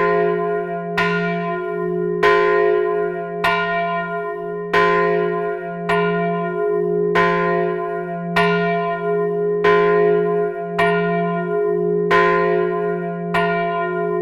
bell of Rebaix church, ringed manually in the bell tower 0:00.0 - 0:14.2

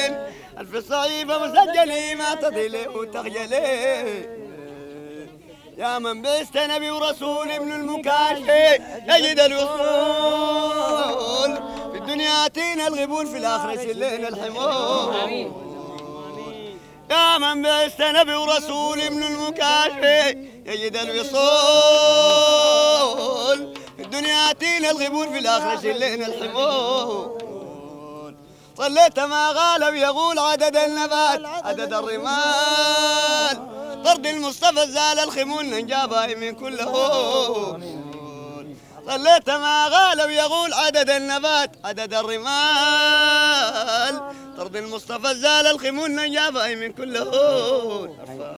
song before dhikr 0:07.6 - 0:35.2

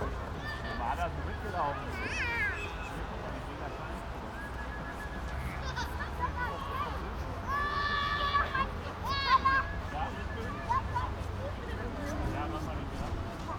children and parents sledging in the dark 0:00.0 - 0:13.5

